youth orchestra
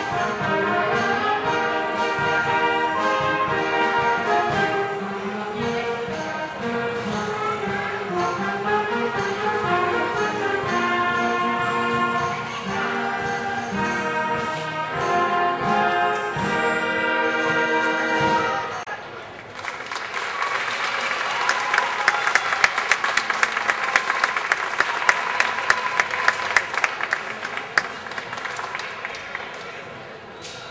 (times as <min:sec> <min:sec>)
0:00.0 0:19.0